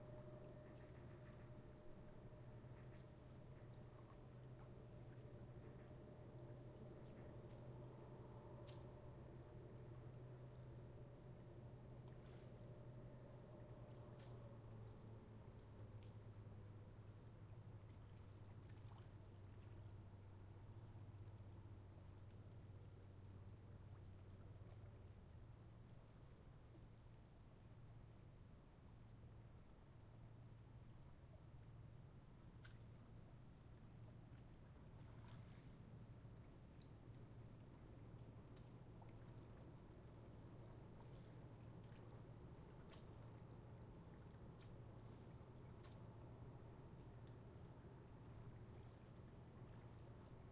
Very quiet air 0:00.0 - 0:50.5
water 0:00.0 - 0:50.5

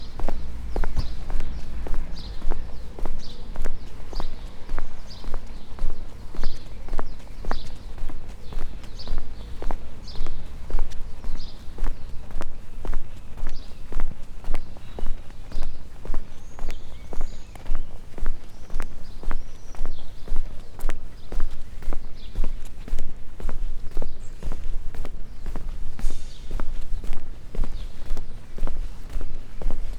Walking concrete pavement 0:00.0 - 0:29.9

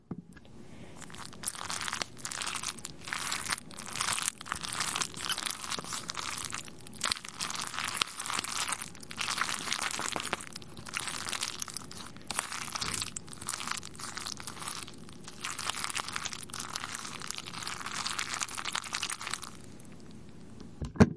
Mac n Cheese being stirred 0:00.8 - 0:20.2

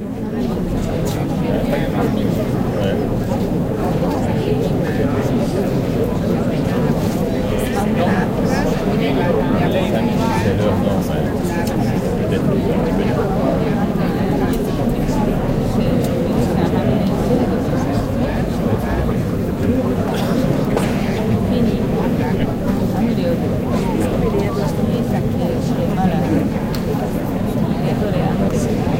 people 0:00.0 - 0:28.9

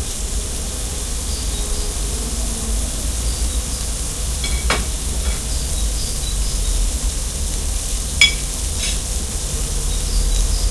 baking bacon 0:04.2 - 0:06.8
toaster 0:04.4 - 0:05.7

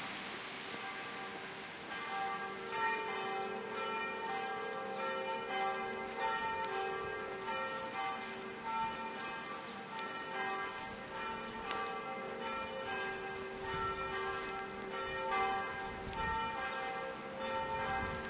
church bells 0:00.0 - 0:18.2

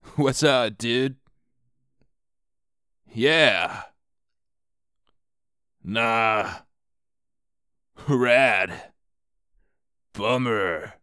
NPC dialogue sounds 0:00.2 - 0:01.2

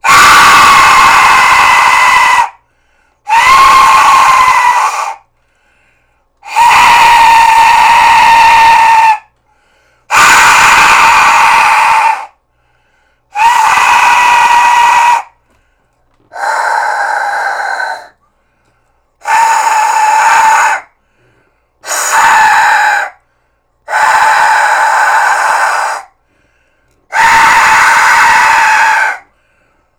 aztec death whistle 0:00.0 - 0:02.6
aztec death whistle 0:03.3 - 0:05.3
aztec death whistle 0:06.4 - 0:09.3
aztec death whistle 0:10.1 - 0:12.4
aztec death whistle 0:13.3 - 0:15.4
aztec death whistle 0:19.2 - 0:20.9
aztec death whistle 0:21.8 - 0:23.2
aztec death whistle 0:23.9 - 0:26.2
aztec death whistle 0:27.1 - 0:29.3

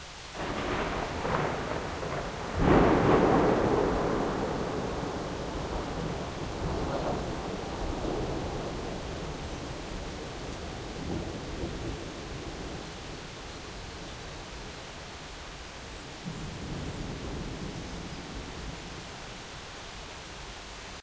rain 0:00.0 - 0:21.0
thunderclap 0:00.4 - 0:13.2
thunderclap 0:16.2 - 0:19.0

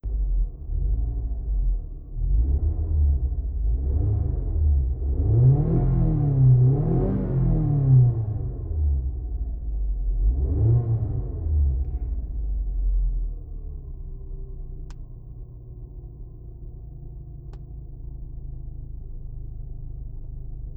Engine revving from inside the car 0:00.0 - 0:20.7

